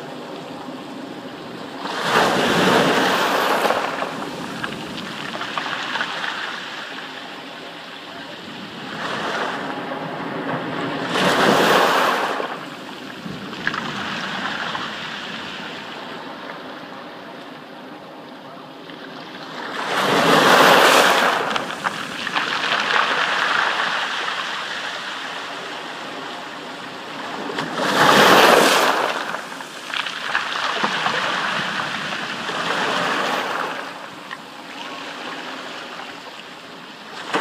medium-sized waves washing up onto a stony beach 0.0 - 17.1
Windy weather 0.0 - 37.4
medium-sized waves washing up onto a stony beach 19.2 - 37.4

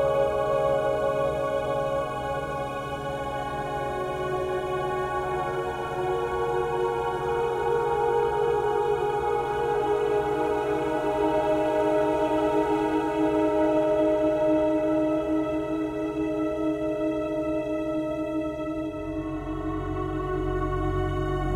strings 0.0 - 21.5

